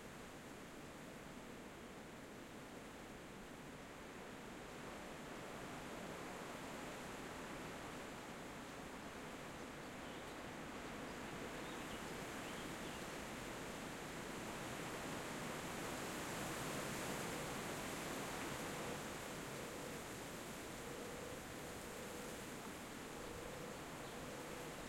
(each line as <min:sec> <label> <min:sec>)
0:00.0 medium wind in trees 0:24.8